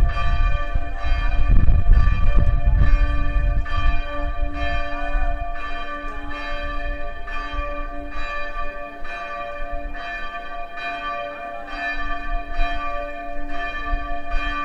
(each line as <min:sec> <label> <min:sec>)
0:00.0 Bells ringing 0:14.6